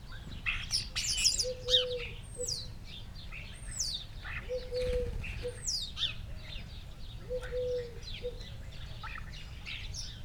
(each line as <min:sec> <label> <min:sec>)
0:04.5 collared dove 0:05.6
0:07.3 collared dove 0:08.5